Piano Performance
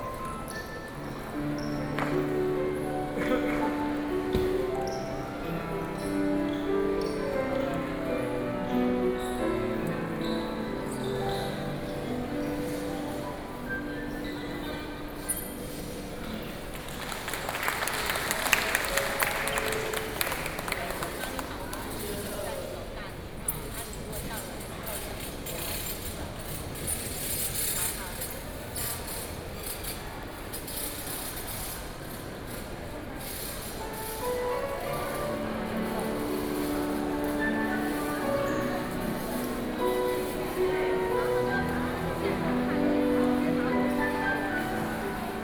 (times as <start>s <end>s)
0.0s 22.1s, 33.3s 45.4s